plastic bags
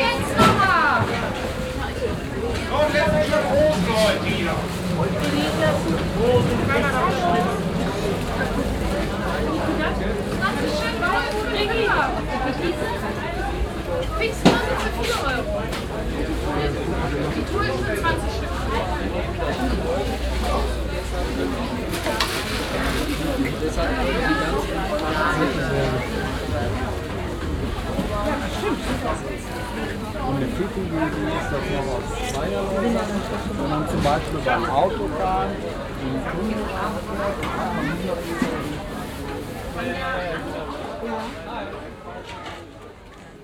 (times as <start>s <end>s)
21.3s 27.2s